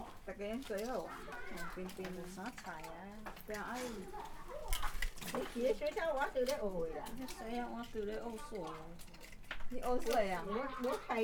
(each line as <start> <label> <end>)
0.0 old women are digging oysters 11.2
0.7 Children are playing 11.2